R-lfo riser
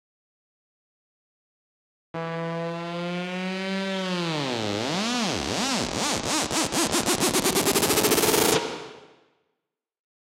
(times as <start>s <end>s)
2.2s 9.0s